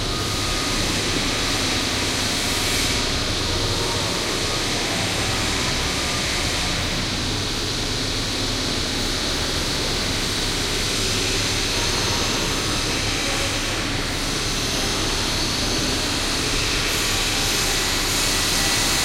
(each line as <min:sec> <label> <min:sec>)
0:00.0 construction site 0:19.0